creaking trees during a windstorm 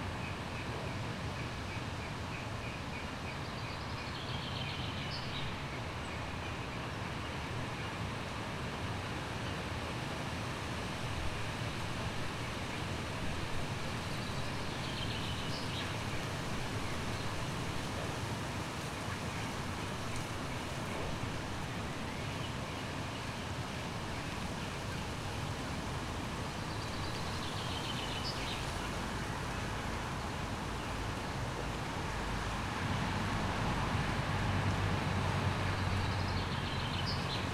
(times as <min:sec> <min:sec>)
0:08.0 0:37.5